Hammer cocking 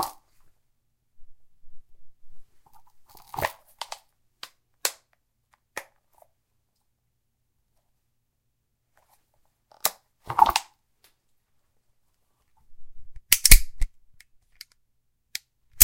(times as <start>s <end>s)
13.3s 13.9s